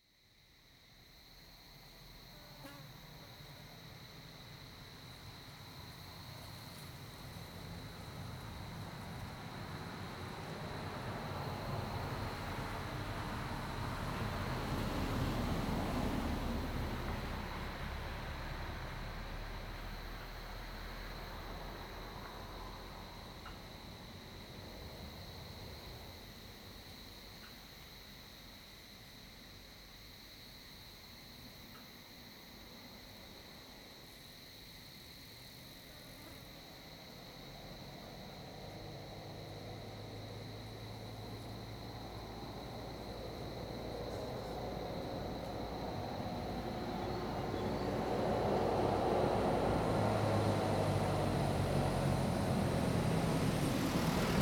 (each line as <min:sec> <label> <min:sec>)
0:00.0 Cicadidae sound 0:54.4
0:00.0 wind 0:54.4
0:03.1 traffic sound 0:27.8
0:36.0 traffic sound 0:54.4